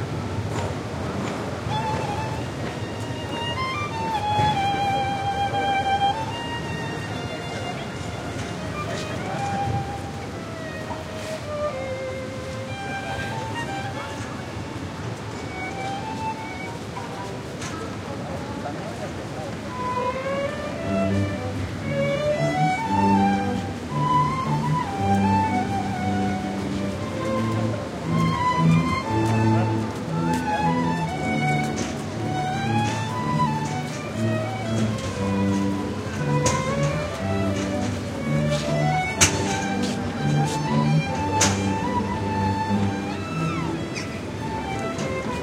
ensemble of strings plays a short musical piece 0.0 - 18.0
street noise 0.0 - 45.4
ensemble of strings plays a short musical piece 18.7 - 45.4

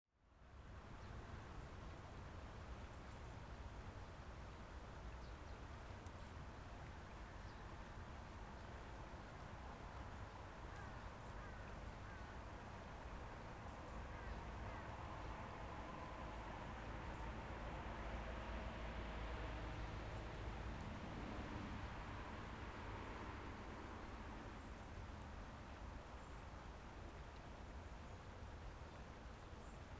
river 0.2 - 29.9

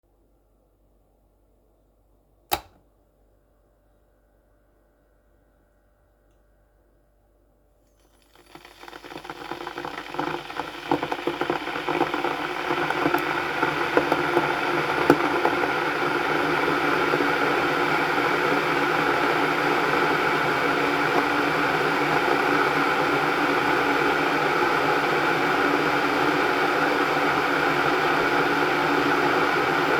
Electric kettle bought to boil 2.5 - 2.8
Electric kettle bought to boil 7.9 - 29.9

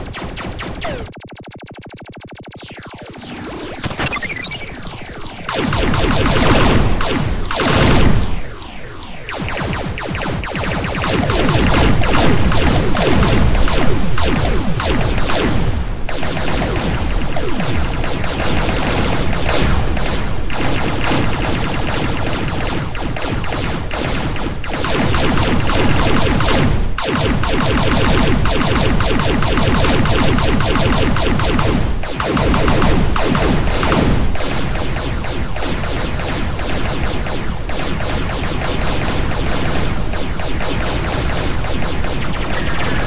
shots 0.0 - 43.0
sirens 42.4 - 43.0
alarm 42.5 - 43.0

